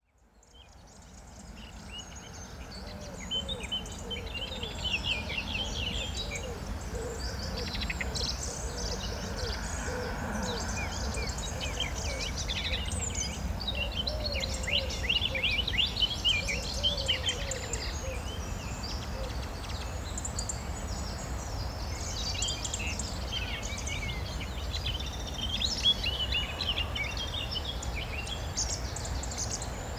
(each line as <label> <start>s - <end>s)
birds 0.4s - 29.9s